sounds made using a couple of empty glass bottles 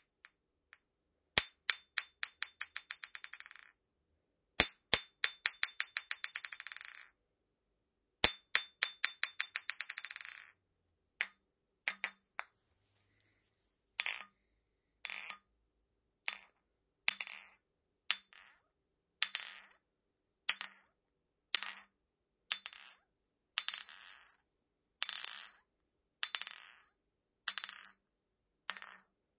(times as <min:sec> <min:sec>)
0:11.2 0:12.6, 0:28.7 0:29.1